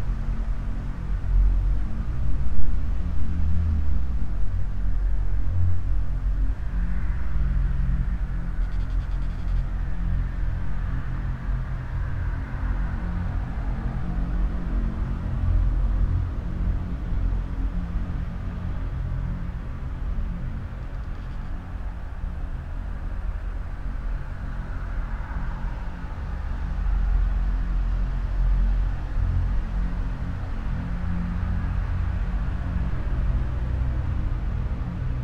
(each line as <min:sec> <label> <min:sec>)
0:00.0 resonances of the near traffic 0:35.2